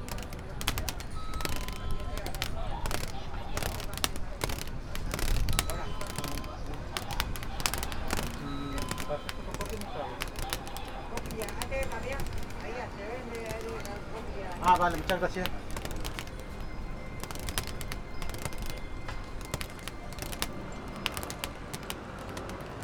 0.0s Conversations of the customers and passersby 22.8s
0.0s small fan, with some plastic strips attached to it 22.8s
0.0s street noise 22.8s

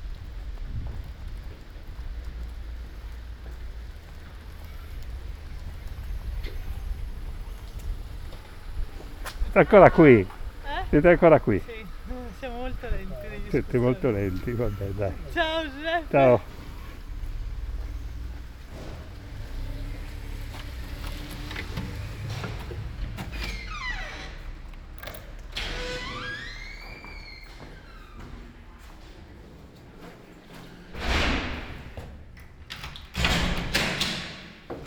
0.0s Evening walk 18.7s

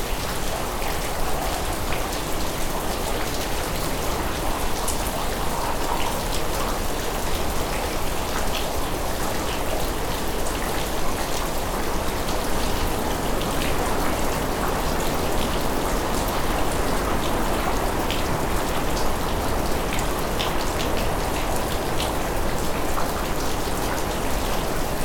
0.0s rain 25.0s

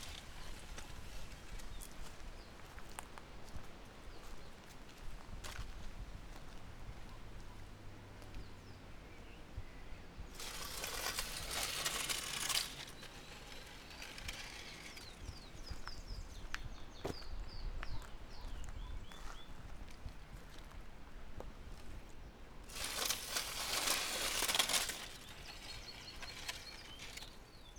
0.0s it made a scratching sound 1.7s
0.0s wilted branch floating down the levada dragging garbage 2.2s
10.3s wilted branch floating down the levada dragging garbage 15.9s
10.4s it made a scratching sound 15.5s
22.7s wilted branch floating down the levada dragging garbage 27.7s
22.7s it made a scratching sound 27.4s

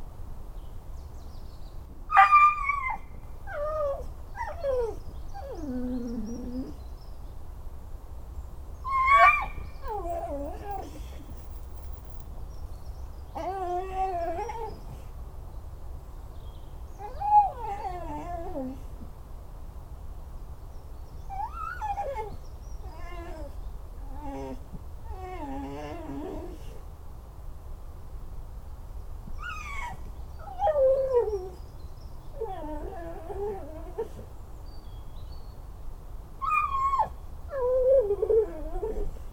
9.1s old american staff dog 12.3s

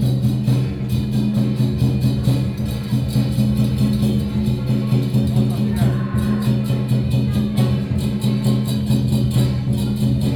0.0s Traditional percussion performances 10.3s

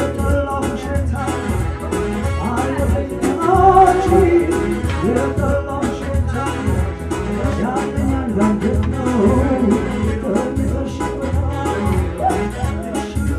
0.0s most old man sings and dances 13.3s

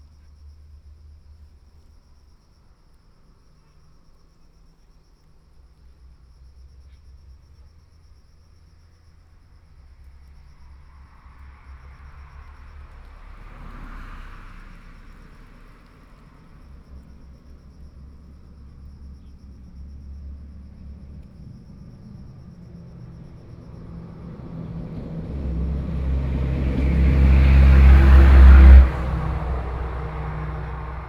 8.7s Traffic Sound 31.0s

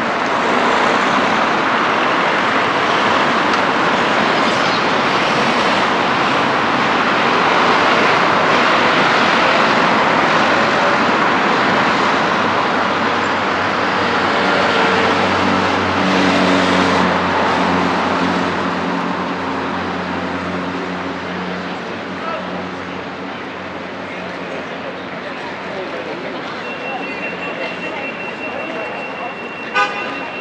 0.0s traffic either from pedestrians or vehicles 30.4s

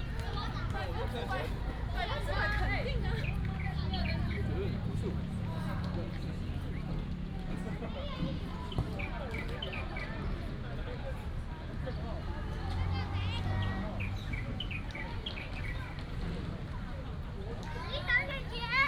0.0s Many people 18.8s
13.3s birds 16.1s
17.7s Child 18.8s

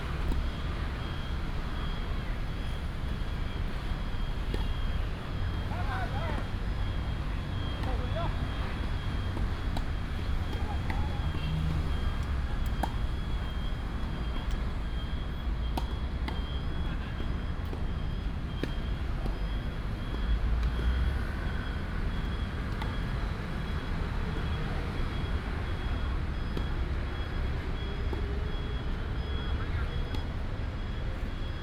0.0s Traffic sound 31.6s

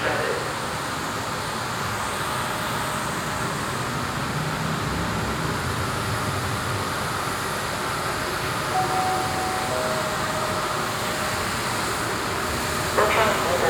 0.0s passengers arriving at the platform 13.6s
0.0s swooshes and clatter of the idling trains 13.6s
8.7s station announcements 13.6s
8.8s walking around the platform 13.6s

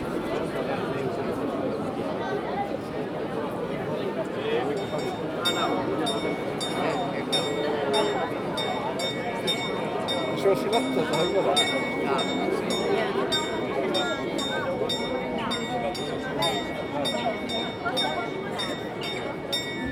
4.6s Town Hall Bells 19.9s

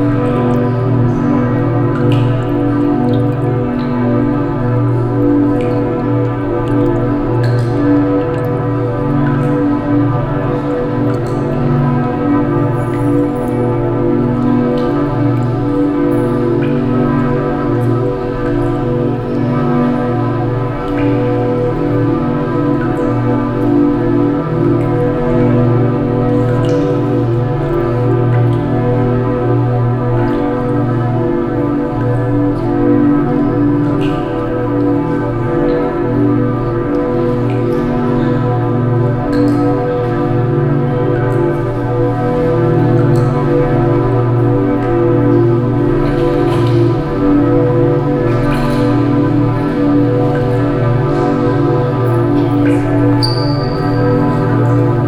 0.0s evening bells coming from outside into the church hall 55.0s
0.0s water sounds 55.0s
48.0s tune played on a bottle glass instrument 55.0s

